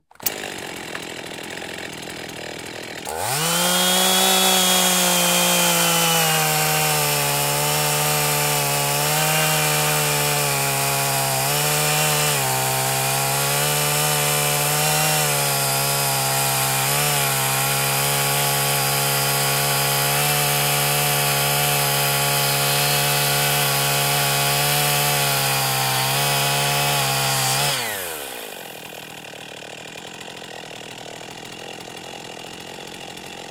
Chainsaw - Start Cut and Idle 0:00.0 - 0:33.5
chainsaw is pull started 0:00.0 - 0:33.5

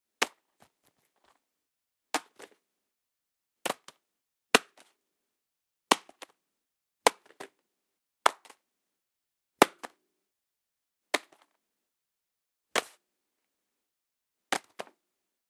leather wallet dropping on a solid ground 0:14.5 - 0:15.0

